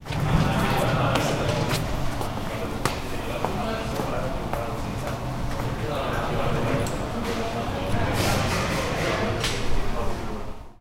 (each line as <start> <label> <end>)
0.1 conversations 10.7